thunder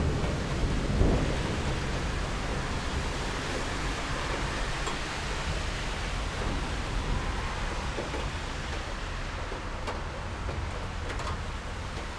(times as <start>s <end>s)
0.0s 5.6s